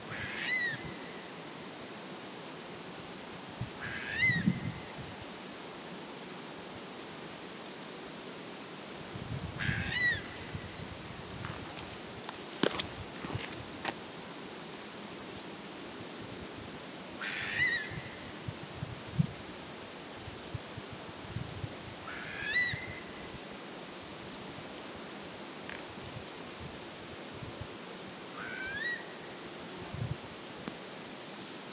0.1s bird of prey 1.2s
3.8s bird of prey 4.6s
9.5s bird of prey 10.3s
17.2s bird of prey 18.1s
22.1s bird of prey 23.0s
28.4s bird of prey 29.1s

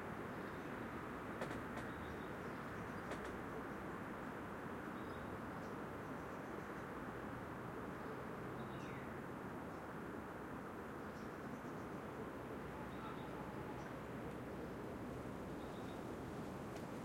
0.0s wind 17.0s
1.4s birdsong 3.9s
7.9s birdsong 9.1s
11.0s birdsong 14.1s
12.7s animals 14.0s
15.6s birdsong 16.1s

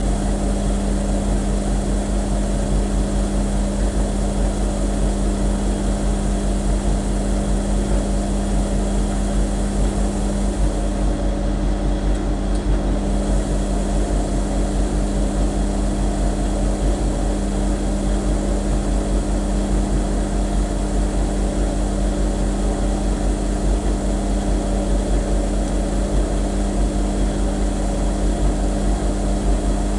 0.0s washing machine 29.9s

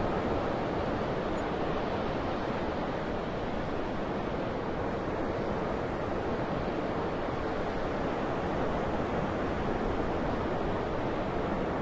0.0s waves 11.8s
0.0s wind 11.8s

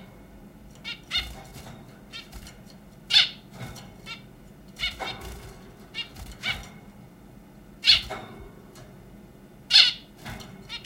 0.0s background airflow noise from my computer 10.8s
0.0s zebra finches flying around their cage and making noises 10.8s

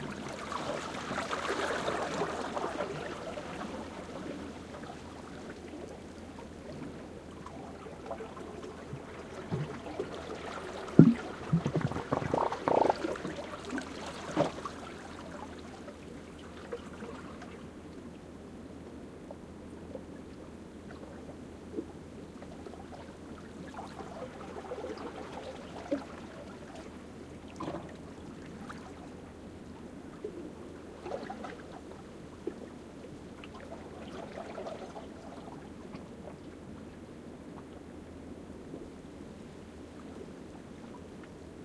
0.0s water moving through the seaweed 17.8s
0.0s Quiet waves lapping again some rocks 18.1s
22.4s water moving through the seaweed 36.9s

